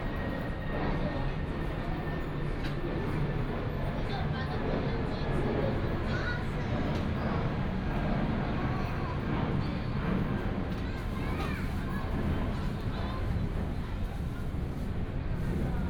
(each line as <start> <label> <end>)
6.0 Child 6.8
10.7 Child 13.4